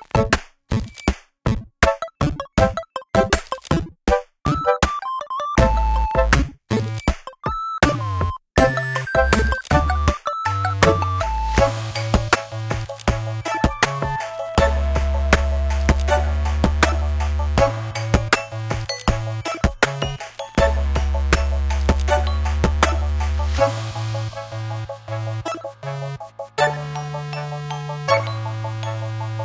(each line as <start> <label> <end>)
0.0 drums 29.4
7.6 chip tune 23.5